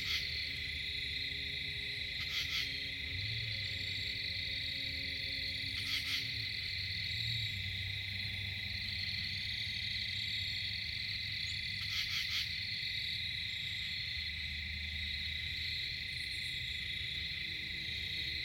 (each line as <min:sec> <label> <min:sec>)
0:00.0 screech owl 0:00.3
0:00.0 hypnotic insect chatter 0:18.4
0:00.0 long-ranged traffic noise 0:18.4
0:02.2 screech owl 0:02.8
0:05.6 screech owl 0:06.3
0:11.8 screech owl 0:12.6